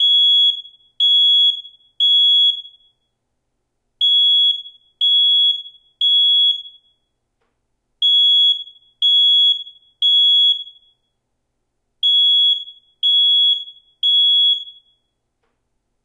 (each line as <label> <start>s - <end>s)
Smoke detector alarm 0.0s - 3.2s
Smoke detector alarm 4.0s - 7.2s
Smoke detector alarm 8.0s - 11.2s
Smoke detector alarm 12.0s - 15.2s